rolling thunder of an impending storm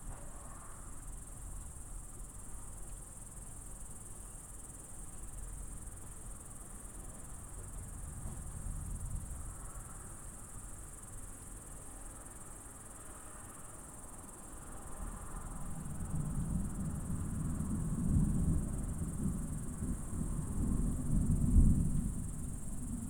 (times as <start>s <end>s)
15.6s 23.0s